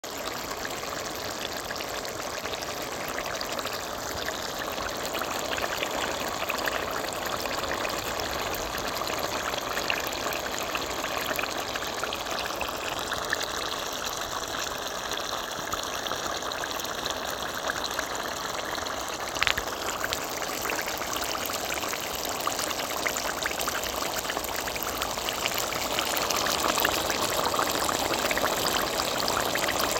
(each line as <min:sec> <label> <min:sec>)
0:00.0 Cooking ground beef in a soup pot 0:29.9